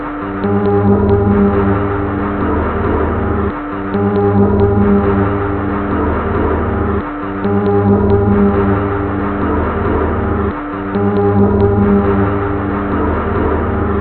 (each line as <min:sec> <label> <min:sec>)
0:00.0 Drum Loop 0:14.0